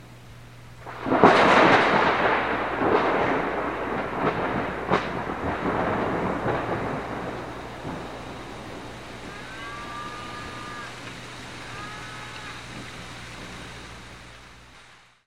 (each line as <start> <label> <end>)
0.0 rain 15.2
0.8 thunder 14.1
9.2 cows 12.8